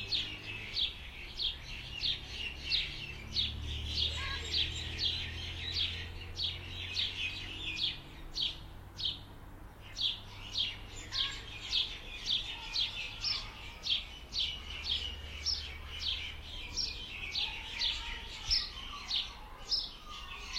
Wind through trees 0:00.0 - 0:20.5
bird calls 0:00.0 - 0:20.5

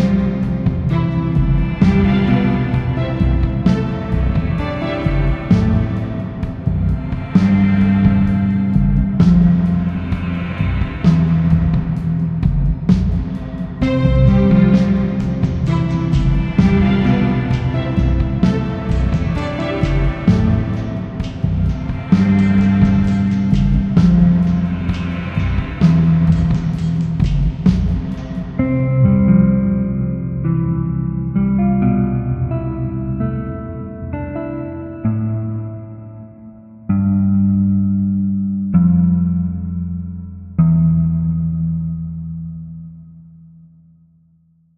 drums 0:00.0 - 0:29.6
piano 0:00.0 - 0:42.2
strings 0:00.0 - 0:42.7
guitar 0:00.0 - 0:43.6

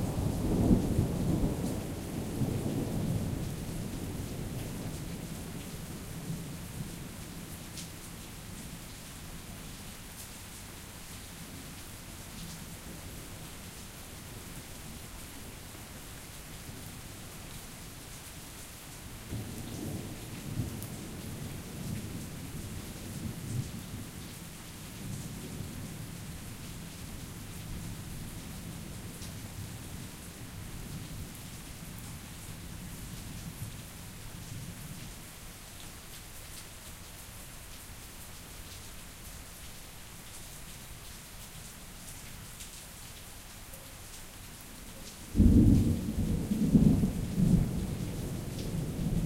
light rain 0:00.0 - 0:49.2
Thunder 0:45.4 - 0:49.2

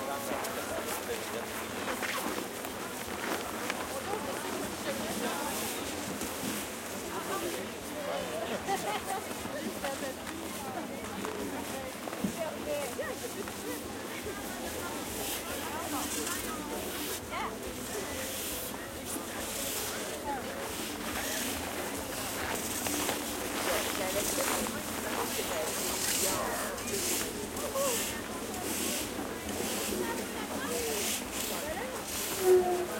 crowd 0:00.0 - 0:32.9
plastic sleds 0:00.0 - 0:32.9
snowsuits swish 0:00.2 - 0:32.4

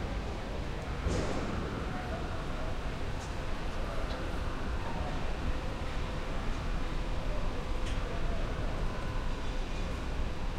construction site 0:00.0 - 0:06.6

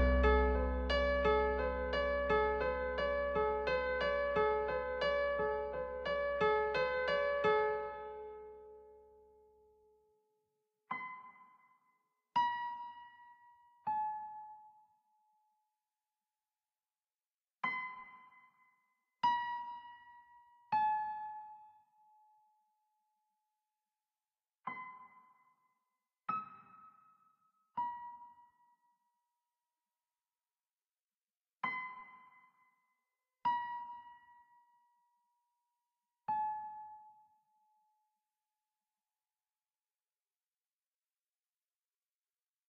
piano 0:00.0 - 0:09.1
piano 0:10.9 - 0:11.6
piano 0:12.4 - 0:14.8
piano 0:17.6 - 0:18.6
piano 0:19.2 - 0:21.8
piano 0:24.7 - 0:25.4
piano 0:26.3 - 0:27.2
piano 0:31.6 - 0:32.7
piano 0:33.5 - 0:34.8
piano 0:36.3 - 0:37.3

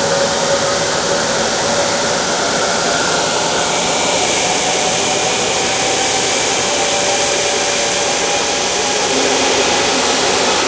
jet engine start 0:09.0 - 0:10.6

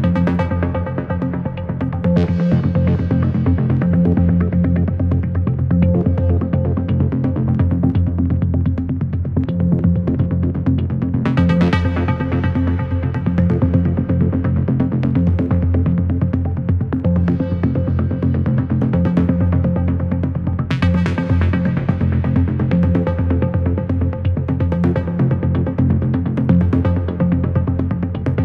bass 0:00.0 - 0:28.4

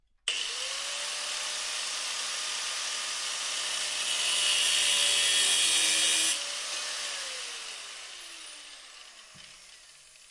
Angle Grinder 0:00.3 - 0:10.3

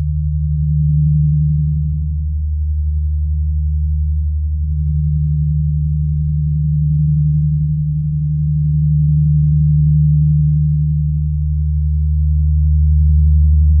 Phase drone sound in the key of D 0:00.0 - 0:13.8

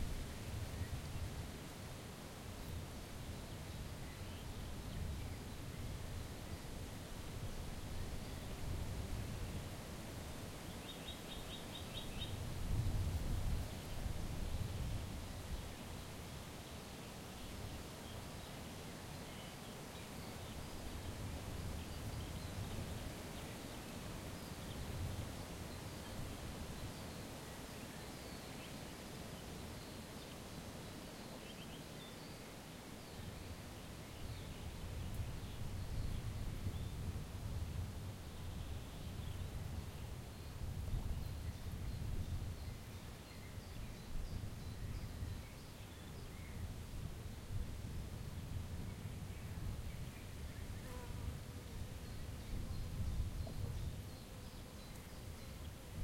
windy 0:32.5 - 0:56.0

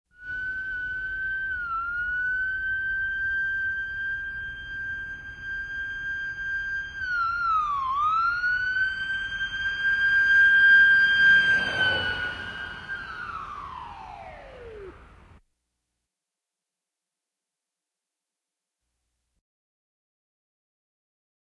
ambulance siren passing from left to right 0:06.6 - 0:15.2

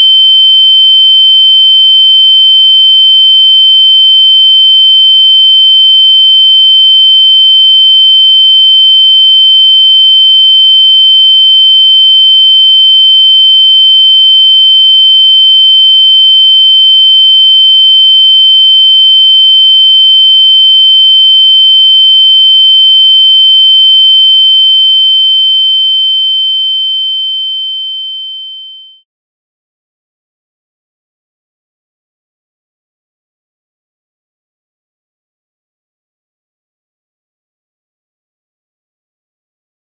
Ear Ringing Sound 0:22.6 - 0:29.0

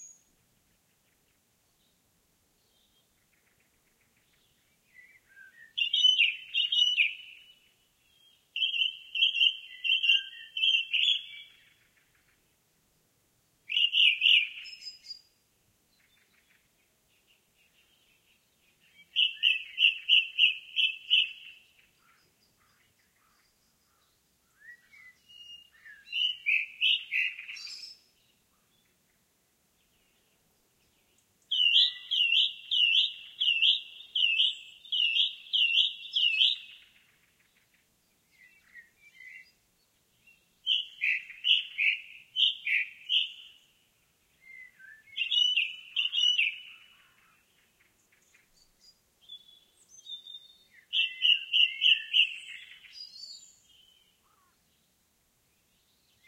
song thrush 0:00.0 - 0:56.2

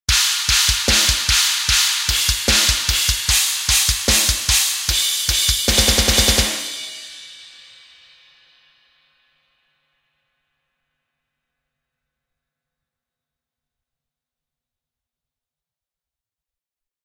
snare 0:00.1 - 0:04.8
symbal 0:00.1 - 0:11.0

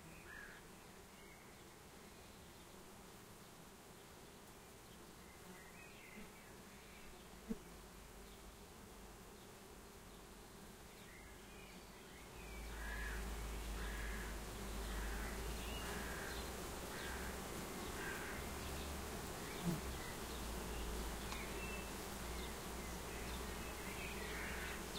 Domestic Bee Hive 0:00.0 - 0:24.9

